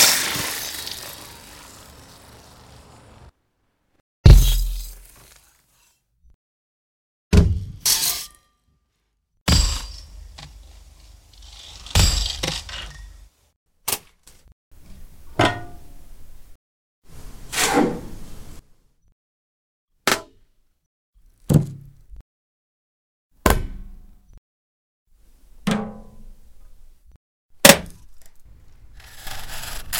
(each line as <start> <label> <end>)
0.0 stab 3.3
4.3 stab 5.3